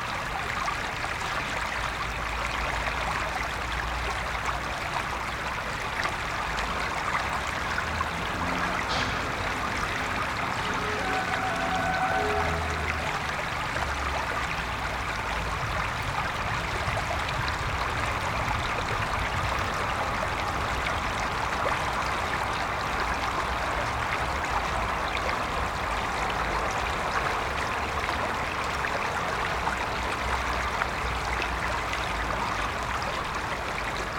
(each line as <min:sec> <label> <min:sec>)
0:00.0 Water flow 0:34.1
0:08.0 distant train 0:15.3